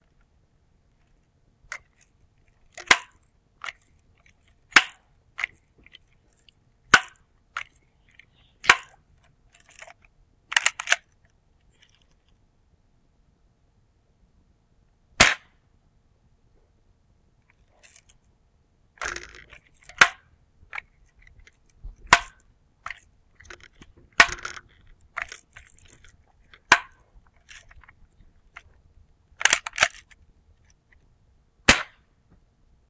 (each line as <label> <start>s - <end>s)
air rifle 4.7s - 5.6s
air rifle 8.6s - 9.0s
air rifle 15.2s - 15.6s
air rifle 19.0s - 20.3s
air rifle 22.0s - 27.9s
air rifle 31.7s - 32.1s